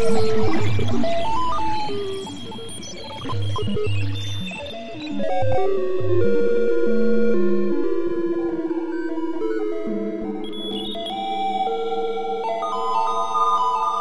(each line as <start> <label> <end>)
0.0 synthesizer 14.0